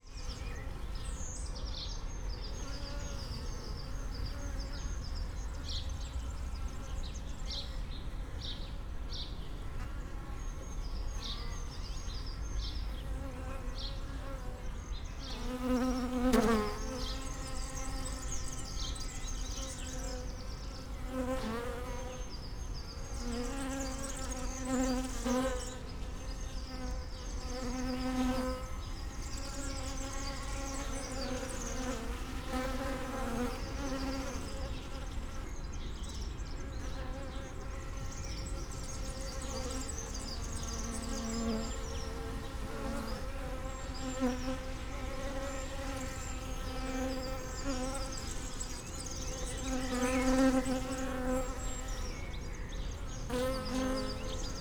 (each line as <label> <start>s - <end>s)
bees gathering at a water container 10.1s - 54.6s